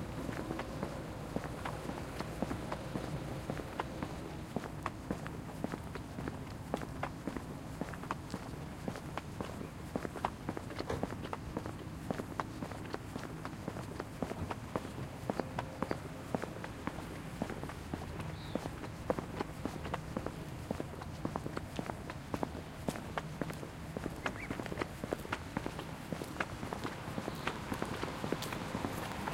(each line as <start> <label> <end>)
0.0 diesel 29.3
0.0 foot steps 29.3
10.7 people are loading/unloading dogs 11.3